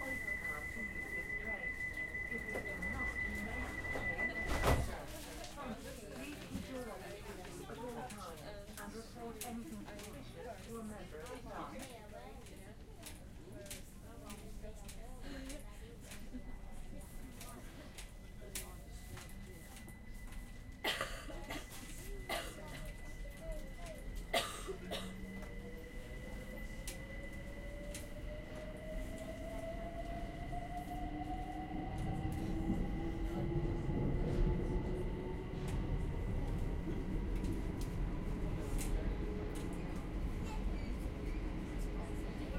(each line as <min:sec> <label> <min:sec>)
0:00.0 announcement 0:05.2
0:00.0 train 0:42.5